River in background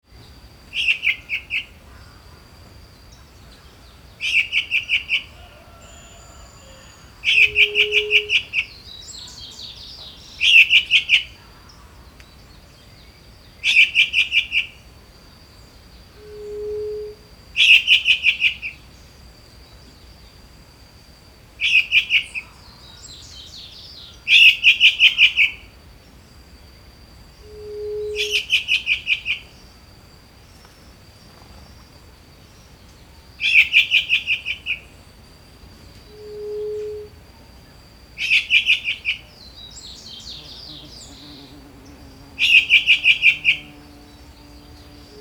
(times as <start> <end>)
14.6 45.2